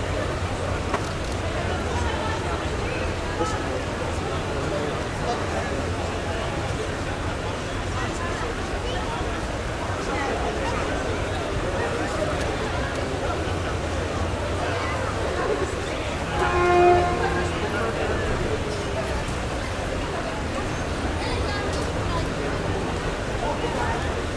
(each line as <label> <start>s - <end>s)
street sounds 0.0s - 24.3s